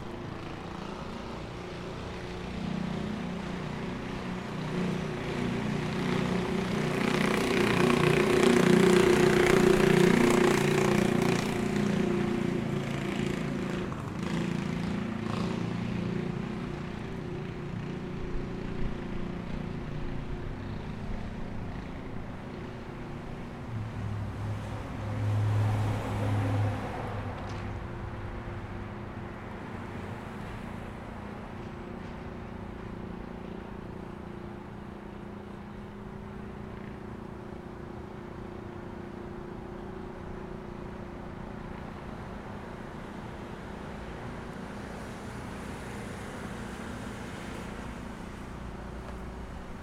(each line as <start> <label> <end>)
0.0 cars 49.8